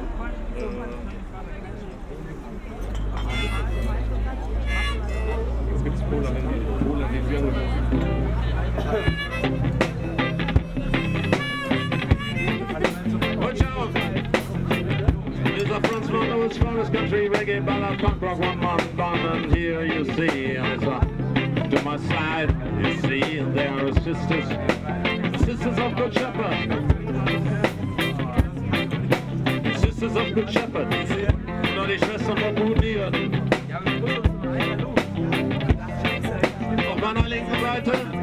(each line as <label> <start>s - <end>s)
country & reggae band 3.2s - 38.2s